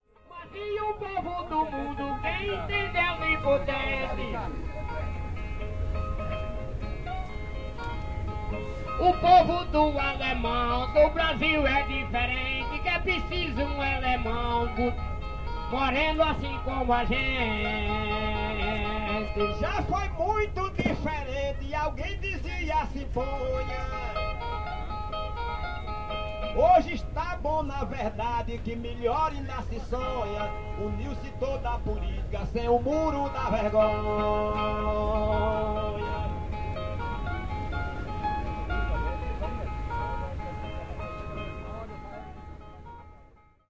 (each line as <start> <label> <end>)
0.0 guitar 43.6
0.2 singing improvised ironical songs 4.7
8.9 singing improvised ironical songs 24.5
26.4 singing improvised ironical songs 36.6